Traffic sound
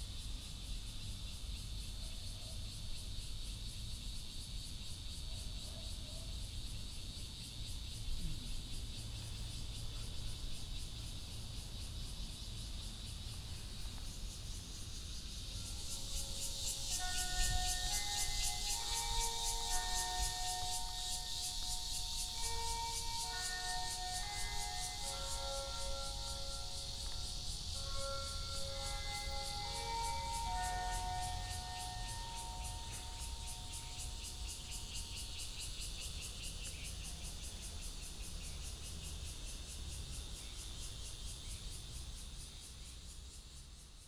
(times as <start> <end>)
8.9 43.3